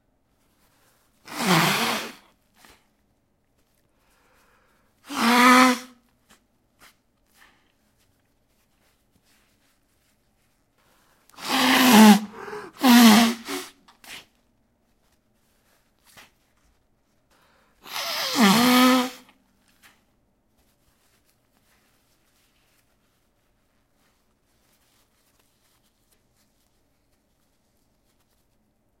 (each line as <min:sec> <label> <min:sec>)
0:01.3 Nose Blowing 0:02.2
0:05.0 Nose Blowing 0:06.0
0:11.4 Nose Blowing 0:14.2
0:17.8 Nose Blowing 0:19.3